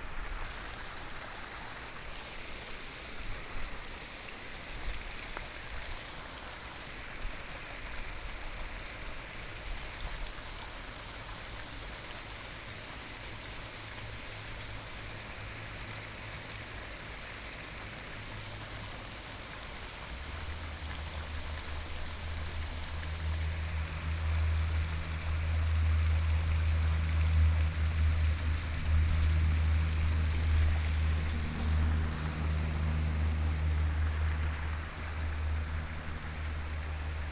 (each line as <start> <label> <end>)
14.3 Traffic Sound 37.3